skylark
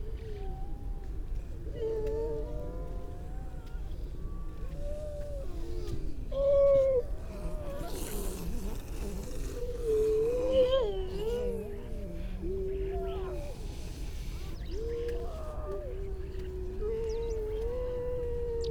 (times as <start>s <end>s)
16.1s 18.7s